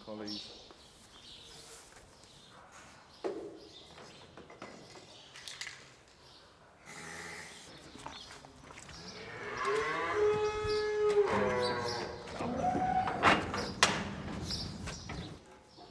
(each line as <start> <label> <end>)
6.8 Farm noises 15.9